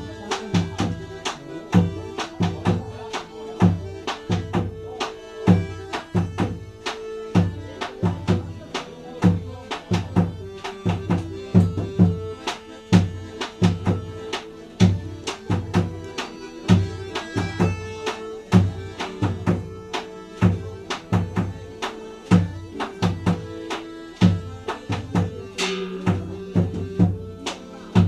songs 0.0 - 28.0
drums 24.2 - 27.3

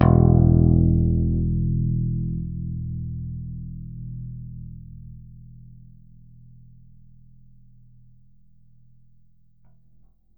Bass Guitar Picked 0.0 - 10.0

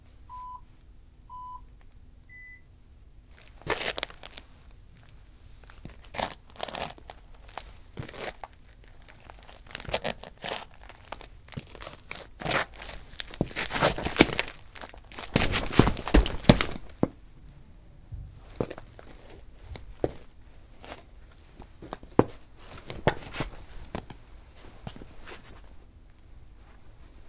3 beep 0.3 - 0.6
3 beep 1.3 - 1.7
3 beep 2.3 - 2.7
clothing rustle 3.3 - 17.1
Foley walk on tile covered with gritty dirt 3.4 - 4.4
Foley walk on tile covered with gritty dirt 5.0 - 17.2
clothing rustle 18.4 - 27.2

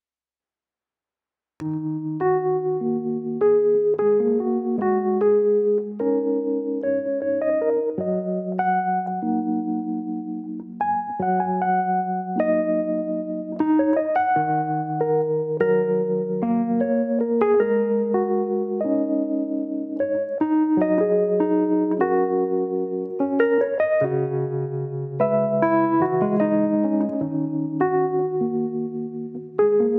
rhodes keys 1.6 - 29.9

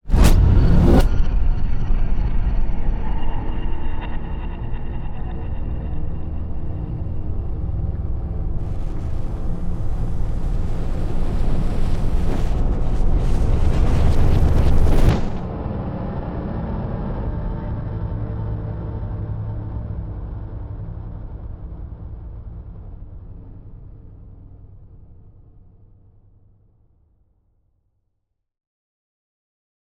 whoosh 0.0 - 1.5
implosion 0.1 - 1.2
boom 0.1 - 1.2
riser 8.2 - 15.6
whoosh 8.6 - 15.7
boom 8.6 - 15.8
implosion 8.6 - 15.9
stinger 8.6 - 15.9
impact 8.6 - 15.6

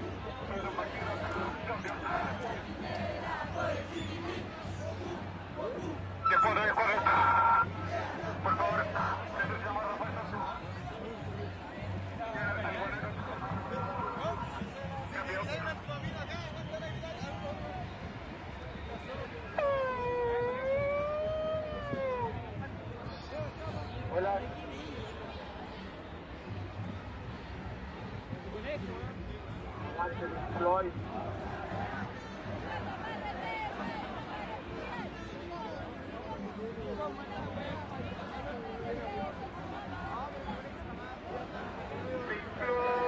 conversaciones 0.0 - 17.7
marcha todo tipo de gente 5.5 - 11.1
conversaciones 19.0 - 24.7
conversaciones 28.6 - 43.0

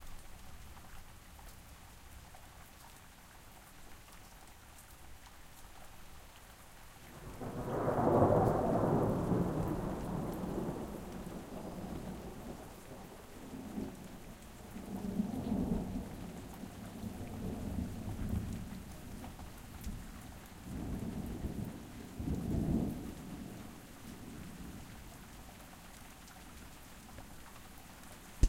Rain 0.0 - 28.4
Thunder 7.1 - 14.0

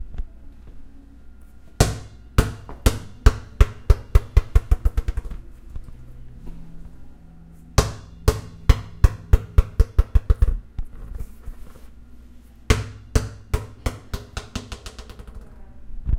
ball bounce basketball drop 1.8 - 5.4
ball bounce basketball drop 7.8 - 10.6
ball bounce basketball drop 12.7 - 15.5

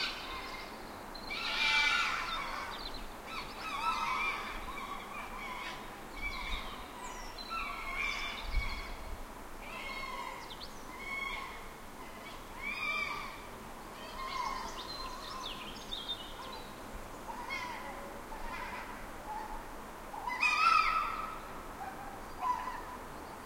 Foxes crying 0.0 - 9.0
Foxes crying 9.6 - 15.4
Foxes crying 17.2 - 23.0

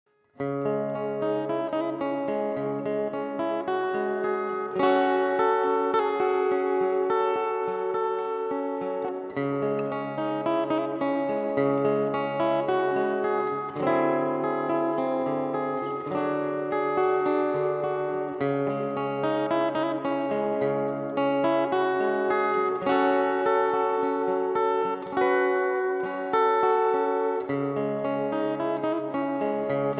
acoustic guitar chord sequence 0.3 - 29.9

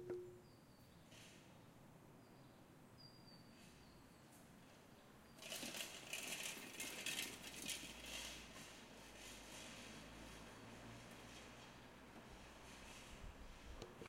bike rack rattling 5.4 - 8.4

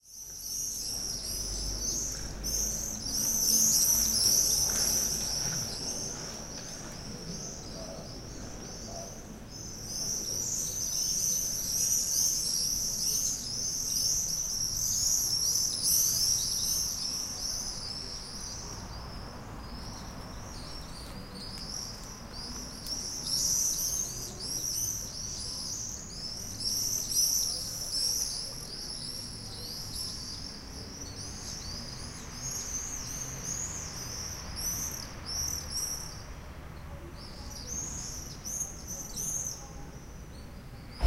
cars 0.5 - 8.9

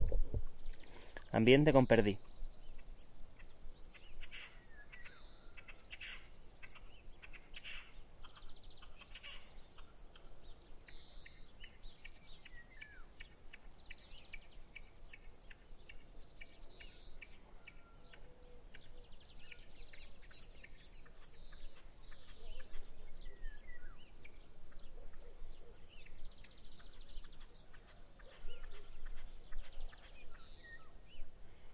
birds 0.0 - 31.7

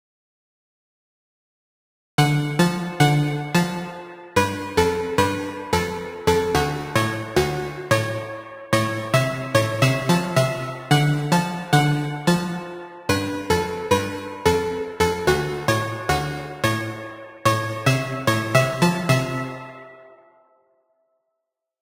bass 2.2 - 20.0
Wide wandering synth melody 2.2 - 20.4

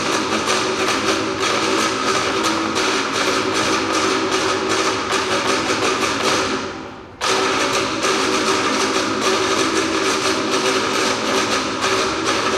Drum performance 0.0 - 12.5

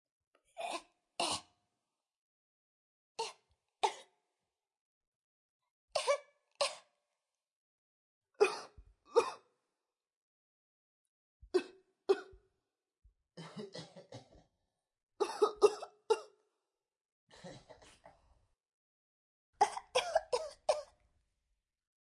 human coughing session 6.0 - 6.9
human coughing session 8.4 - 9.5
human coughing session 11.6 - 12.4
human coughing session 13.4 - 14.5
human coughing session 15.2 - 16.4
human coughing session 19.6 - 21.0

